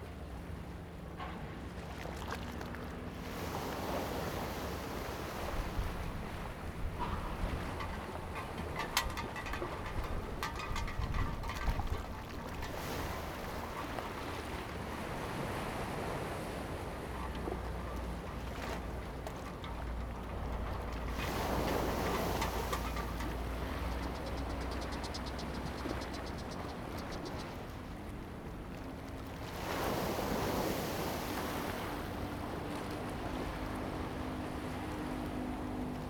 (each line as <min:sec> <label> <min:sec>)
0:00.0 Sound tide 0:36.0